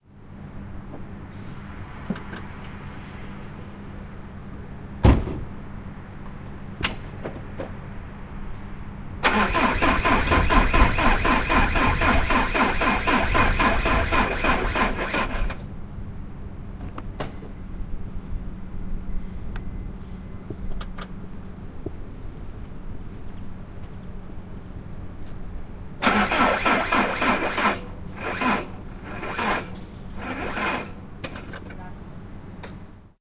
Try to start my 2.0 HDI Citroen Xantia 0:09.2 - 0:15.6
Try to start my 2.0 HDI Citroen Xantia 0:26.0 - 0:31.5

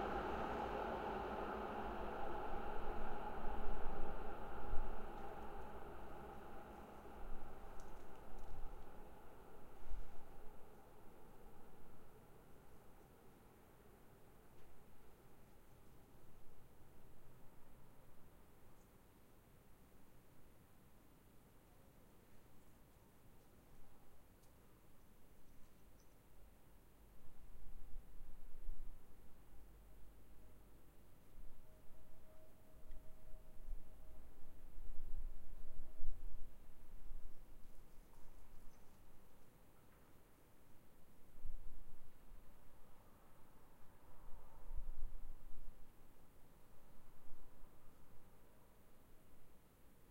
Wind 0:00.0 - 0:50.1

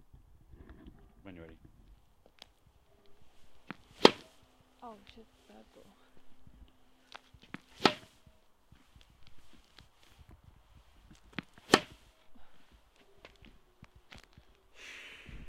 Tennis Ball being hit 0:03.6 - 0:04.5
bounce 0:03.7 - 0:04.4
Tennis Ball being hit 0:07.2 - 0:08.3
bounce 0:07.6 - 0:08.2
bounce 0:11.3 - 0:12.0
Tennis Ball being hit 0:11.4 - 0:12.0

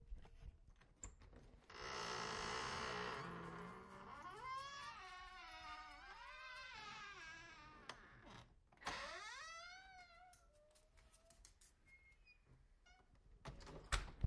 creaking door 1 slow 0:01.7 - 0:10.3

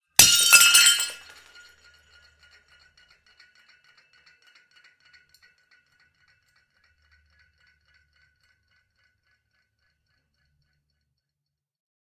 plate breaking on concrete 0:00.2 - 0:01.9

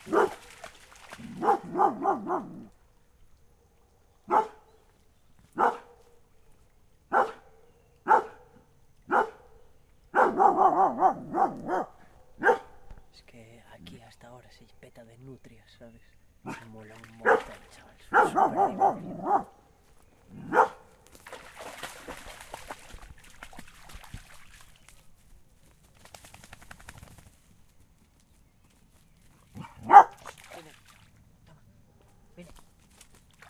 trees 0:00.0 - 0:33.4
dog 0:00.0 - 0:00.5
dog 0:01.2 - 0:02.7
dog 0:04.3 - 0:04.7
dog 0:05.6 - 0:06.2
dog 0:07.1 - 0:09.5
dog 0:10.2 - 0:12.8
dog 0:16.5 - 0:19.5
dog 0:20.3 - 0:20.9
dog 0:29.5 - 0:30.3

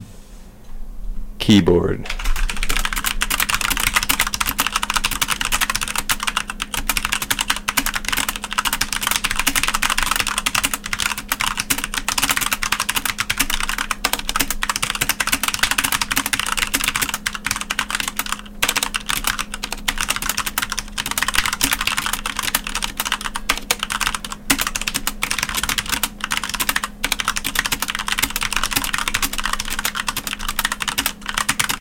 clicking buttons on keyboard 0:02.1 - 0:31.8

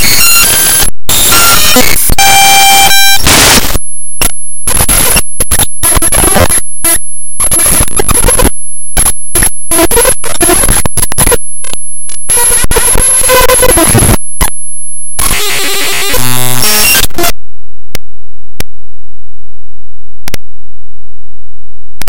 weird glitch noises 0:00.0 - 0:14.6
weird glitch noises 0:15.2 - 0:17.4

